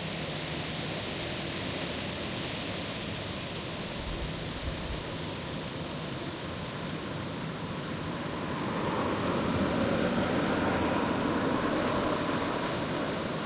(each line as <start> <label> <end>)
0.0 leaves (aspen)in wind 13.4
7.6 cars 13.4